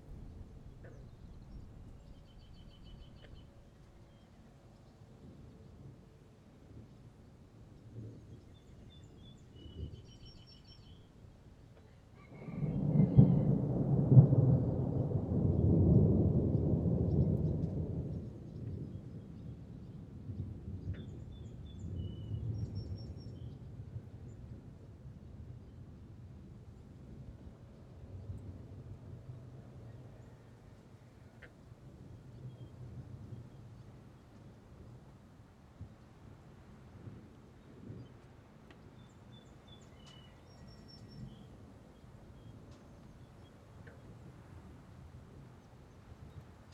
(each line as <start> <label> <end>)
0.0 summer thunder storm 3.8
12.6 summer thunder storm 25.6